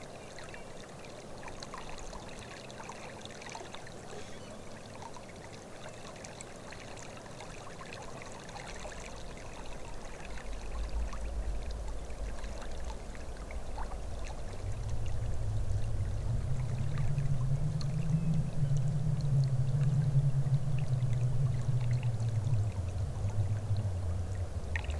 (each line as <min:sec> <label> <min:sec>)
0:00.0 river 0:24.9
0:04.0 singing tree 0:05.0
0:16.7 singing tree 0:22.5